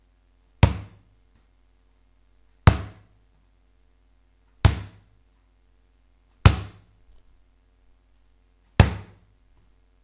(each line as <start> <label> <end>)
0.6 ball bouncing on tiled floor 1.0
2.6 ball bouncing on tiled floor 3.1
4.6 ball bouncing on tiled floor 5.1
6.4 ball bouncing on tiled floor 7.2
8.8 ball bouncing on tiled floor 9.3